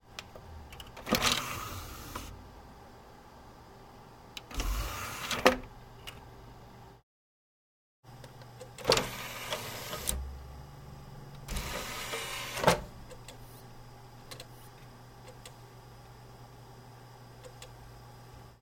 Open and close CD tray 0.8 - 2.4
open and close DVD tray 0.8 - 2.4
Open and close CD tray 4.4 - 5.7
Open and close CD tray 8.8 - 10.3
Open and close CD tray 11.4 - 13.0
open and close DVD tray 11.5 - 12.9

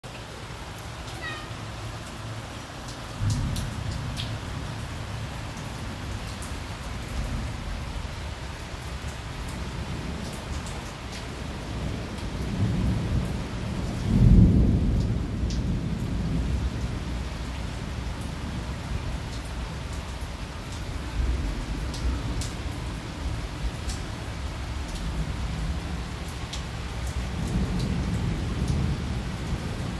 rain 0.0 - 29.9
Traffic 0.0 - 7.6
meows 1.1 - 1.7
thunder 3.2 - 4.7
thunder 11.7 - 17.2

